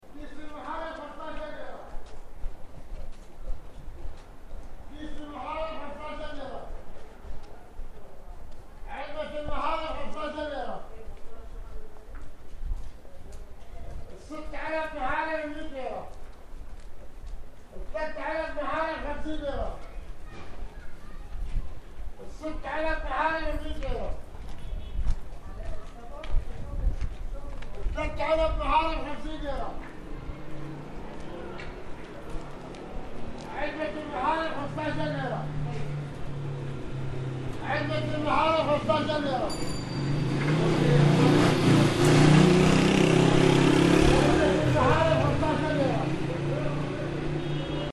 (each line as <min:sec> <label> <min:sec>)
0:00.0 street vendor IV 0:47.9